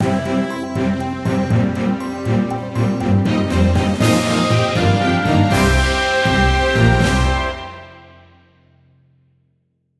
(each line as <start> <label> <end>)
0.0 jingle 8.2